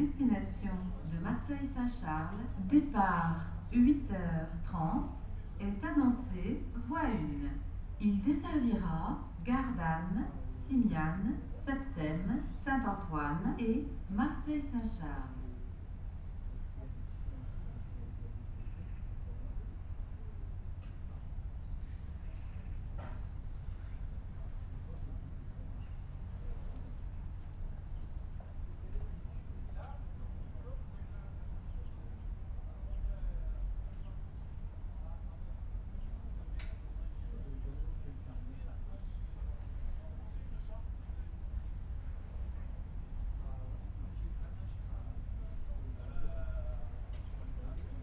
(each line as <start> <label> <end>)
0.0 announcement 15.4
0.0 regional train is arriving 48.0